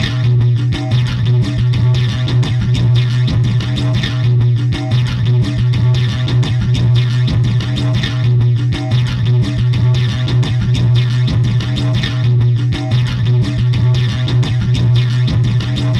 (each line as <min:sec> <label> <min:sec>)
0:00.0 drums 0:15.9
0:00.0 guitar 0:15.9